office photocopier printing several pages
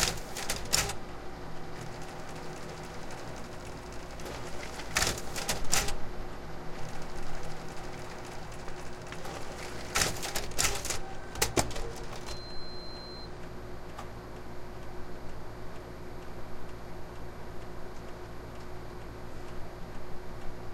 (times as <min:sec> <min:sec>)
0:00.0 0:13.2